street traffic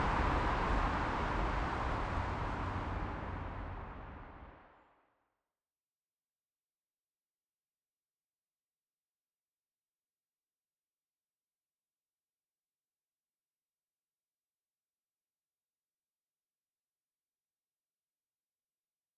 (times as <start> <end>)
0.0 4.6